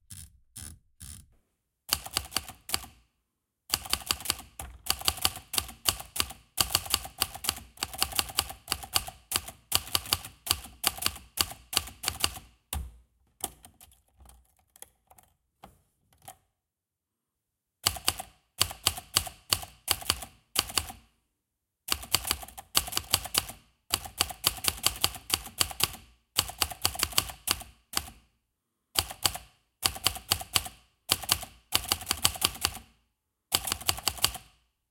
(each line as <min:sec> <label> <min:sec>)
0:01.9 Typewriter 0:03.0
0:03.7 Typewriter 0:12.5
0:17.8 Typewriter 0:21.0
0:21.9 Typewriter 0:28.2
0:29.0 Typewriter 0:32.9
0:33.5 Typewriter 0:34.6